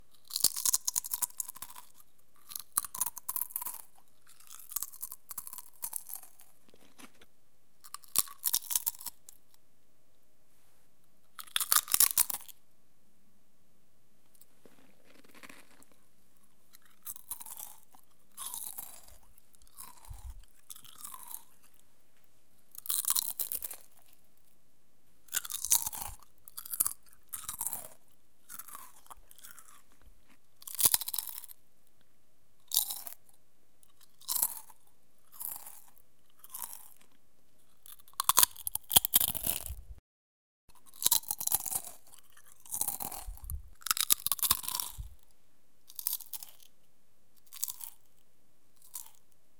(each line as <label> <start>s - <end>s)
eating Potato Chips 0.2s - 7.2s
eating Potato Chips 7.8s - 9.4s
eating Potato Chips 11.4s - 12.6s
eating Potato Chips 14.4s - 21.8s
eating Potato Chips 22.7s - 24.2s
eating Potato Chips 25.3s - 31.6s
eating Potato Chips 32.7s - 39.8s
eating Potato Chips 40.8s - 45.2s
eating Potato Chips 45.9s - 46.8s
eating Potato Chips 47.4s - 48.2s
eating Potato Chips 48.8s - 49.3s